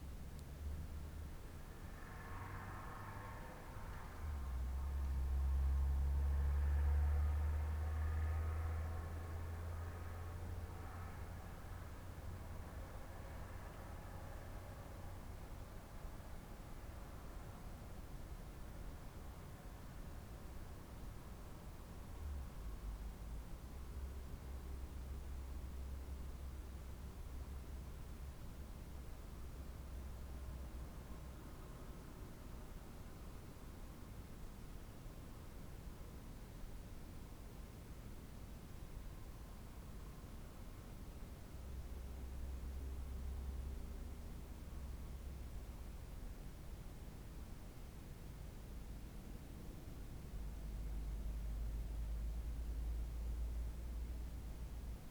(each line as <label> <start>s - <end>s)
passing car 1.1s - 15.6s